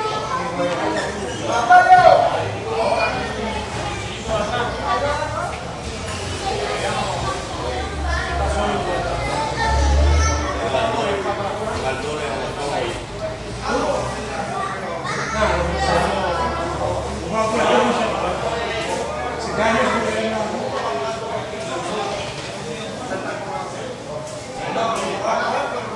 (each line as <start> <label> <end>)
0.0 little spanish walla with some roomy echo 25.9